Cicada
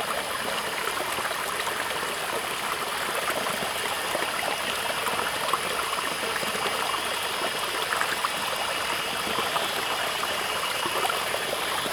3.6s 11.9s

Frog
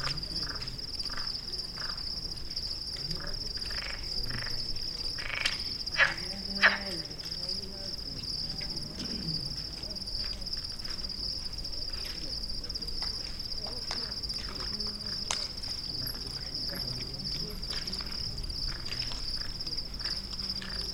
0.0s 2.1s, 3.0s 7.3s

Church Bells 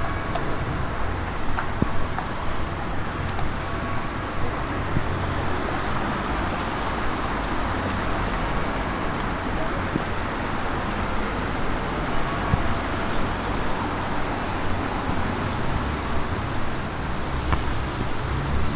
0.0s 1.9s

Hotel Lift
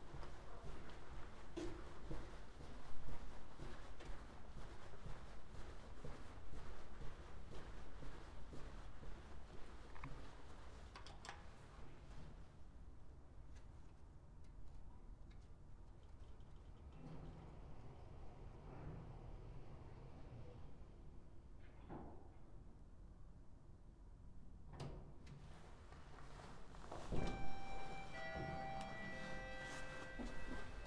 26.8s 30.8s

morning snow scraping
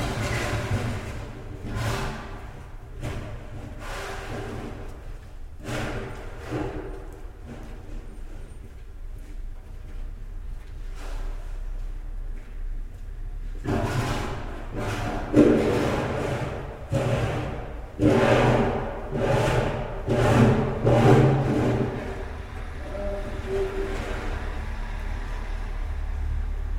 13.6s 25.8s

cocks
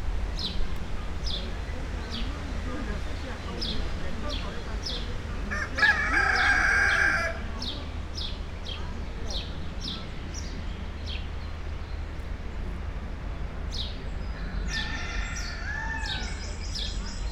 5.5s 7.5s, 14.7s 16.6s

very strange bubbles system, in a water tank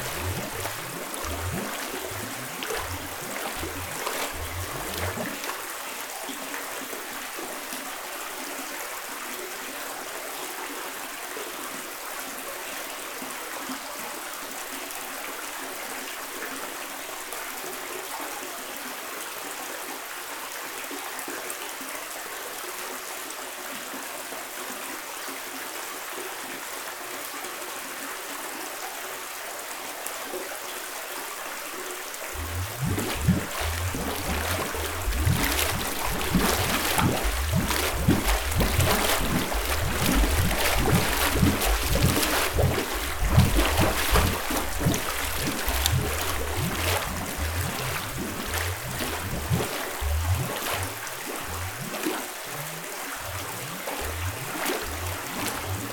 0.0s 6.3s, 32.3s 55.9s

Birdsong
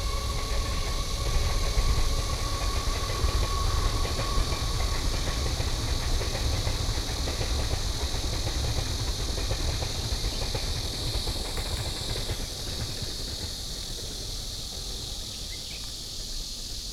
15.1s 16.4s

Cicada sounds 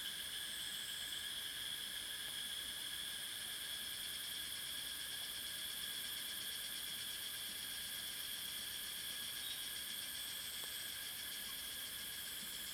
8.4s 12.7s

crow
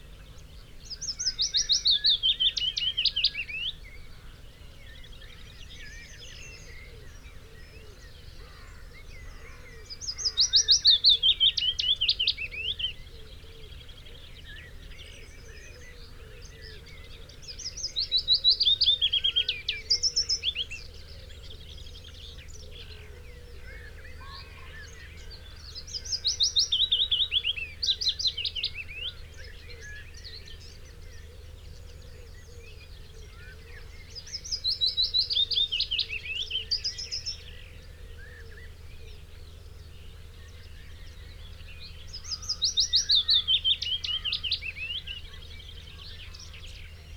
7.8s 11.2s, 22.7s 26.5s

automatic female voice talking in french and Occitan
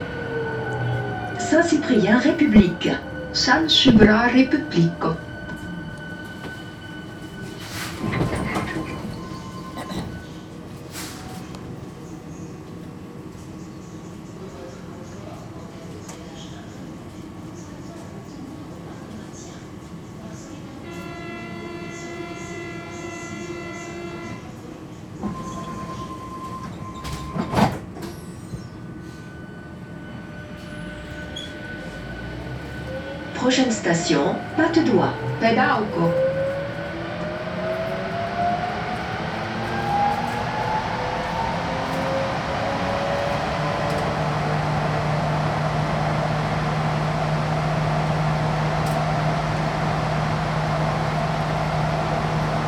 1.4s 5.2s, 33.4s 36.2s

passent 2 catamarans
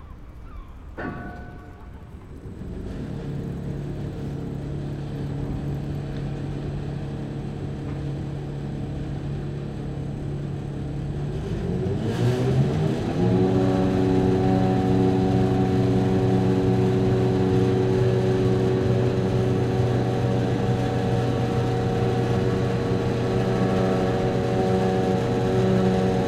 12.4s 26.2s

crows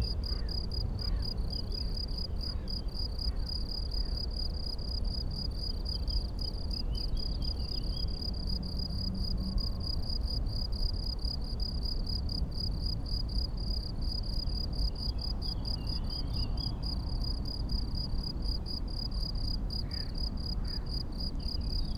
19.8s 20.9s

